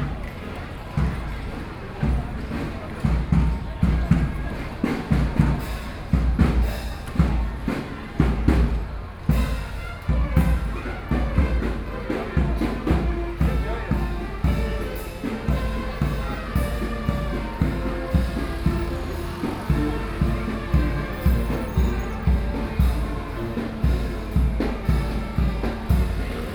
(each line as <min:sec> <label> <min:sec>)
0:00.0 Traffic Sound 0:26.5